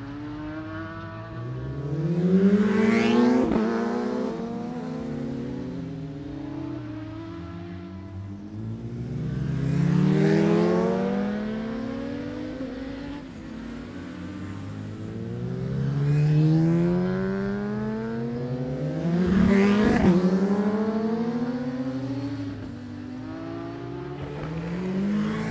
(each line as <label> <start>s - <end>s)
Motorcycle Road Racing 0.0s - 25.5s